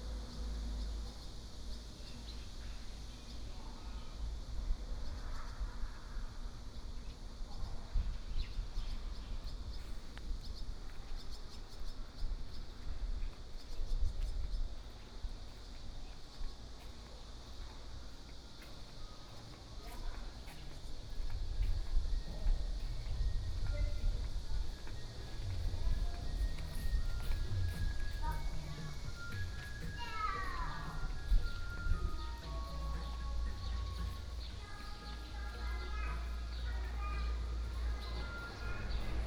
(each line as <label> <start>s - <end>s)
walking in the temple 0.0s - 39.2s
Birdsong sound 28.3s - 39.2s
Traffic Sound 32.5s - 39.2s